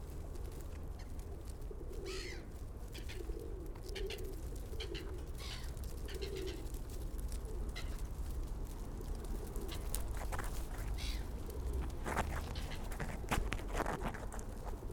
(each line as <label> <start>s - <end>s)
pigeons feeding 0.0s - 14.9s
pigeon footfalls 0.0s - 14.9s
cooing 1.7s - 2.4s